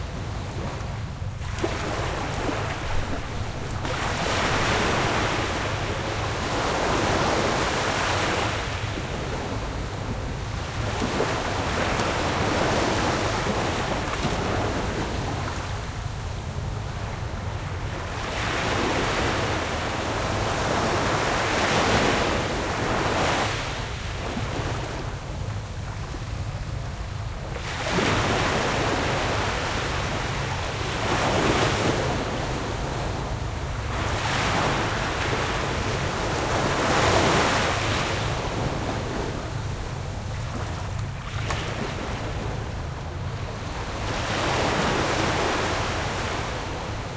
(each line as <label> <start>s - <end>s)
boats on the water 0.0s - 47.1s
waves 0.0s - 47.1s